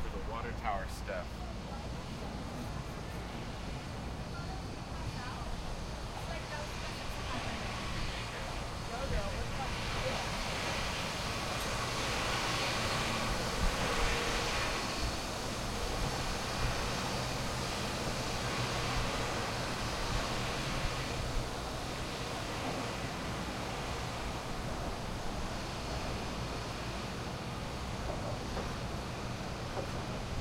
0.0s Conversation 14.9s

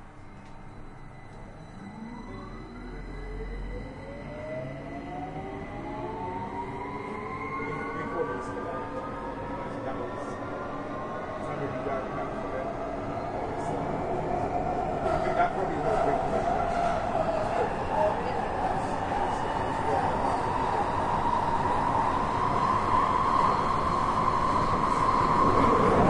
0.0s train 26.0s

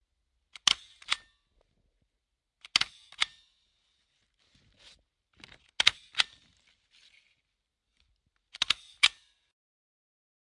2.6s stapler 3.4s
8.5s stapler 9.4s

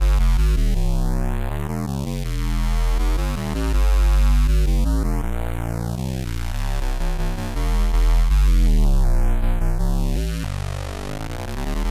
0.0s square bass, flanged 11.9s

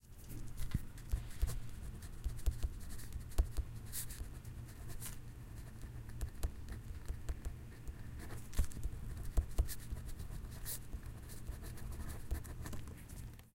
0.4s Pen On Paper 13.0s

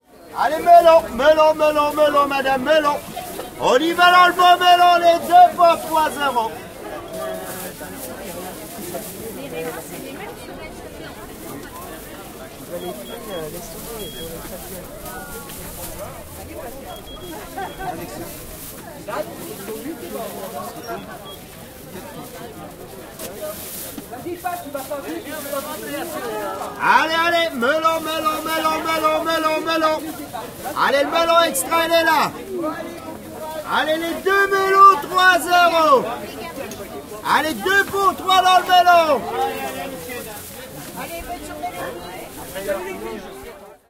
0.0s voices of buyers,fruits and vegetable sellers 43.8s

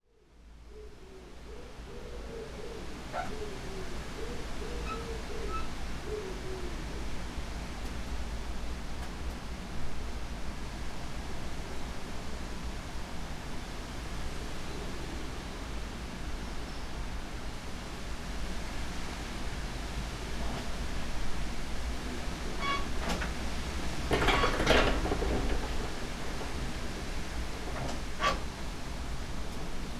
0.0s wind 29.9s
1.1s birds 7.3s

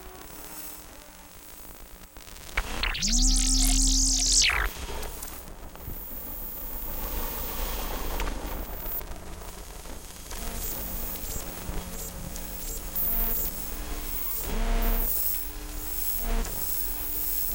2.6s pulses 4.8s

